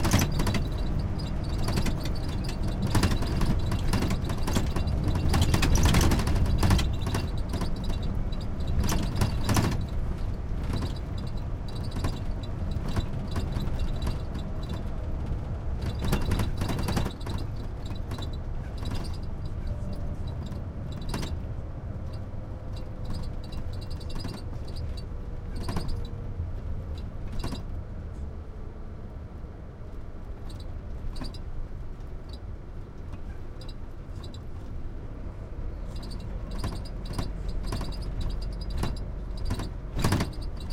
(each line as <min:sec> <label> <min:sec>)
0:00.0 bus rattly TV frame metal plastic squeak 0:28.2
0:29.8 bus rattly TV frame metal plastic squeak 0:40.7